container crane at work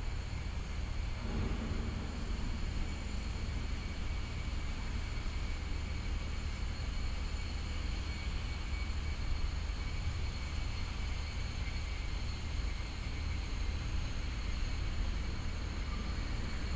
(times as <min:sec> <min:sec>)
0:00.1 0:07.8